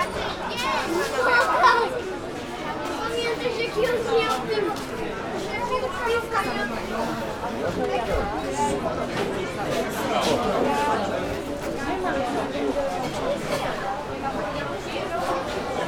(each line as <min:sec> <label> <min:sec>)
0:00.0 people having their meals, ordering 0:15.8